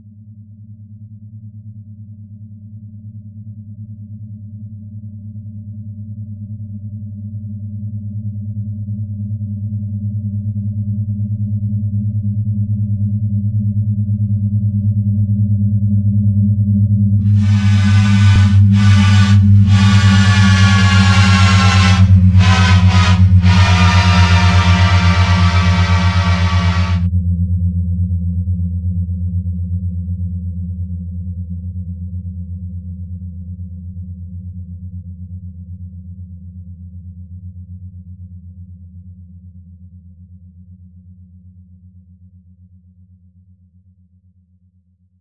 horn 17.2 - 27.1
train that nears, passes and fades out 17.3 - 27.1

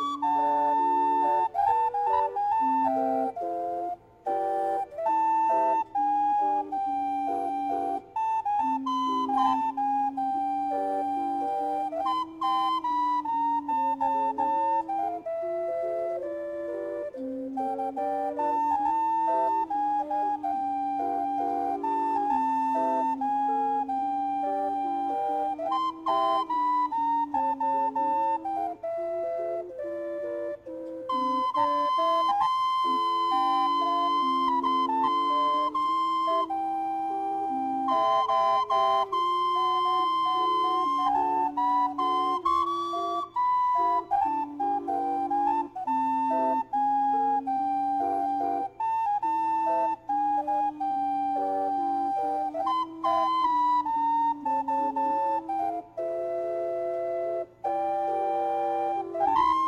songs played on the steamboat Natchez's calliope 0.0 - 59.6

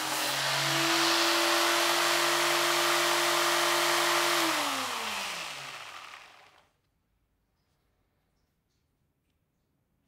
Electric Sander start/stop and sanding at different speeds 0.0 - 6.7

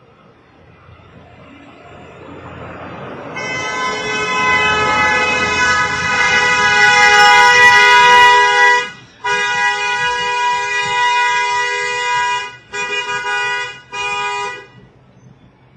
car horn 2.9 - 14.9

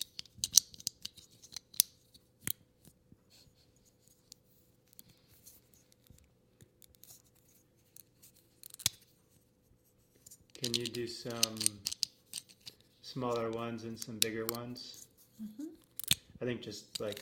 Lego bricks clicking together 0.0 - 2.6
Lego bricks clicking together 8.6 - 9.0
Lego bricks clicking together 10.5 - 15.0
Lego bricks clicking together 15.8 - 16.2
Lego bricks clicking together 16.9 - 17.2

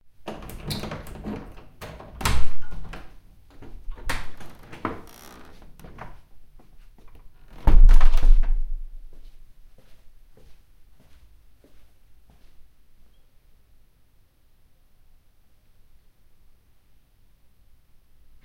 door 0.3 - 6.1
steps 9.0 - 12.6

